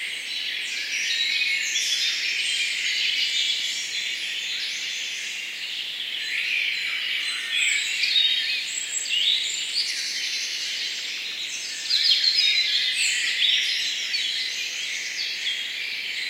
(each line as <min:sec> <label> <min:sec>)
0:00.0 birds are twittering powerful 0:16.2